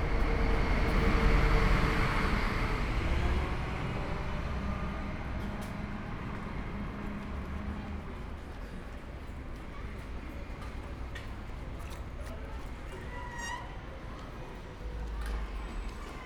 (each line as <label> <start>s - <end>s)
school kids entering the station 0.0s - 16.2s